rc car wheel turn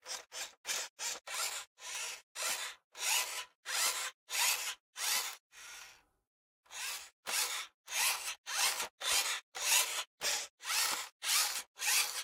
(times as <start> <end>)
6.7 12.2